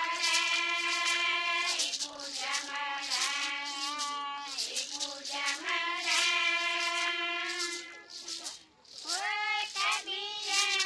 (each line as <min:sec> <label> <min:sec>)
0:02.4 female voices 0:10.8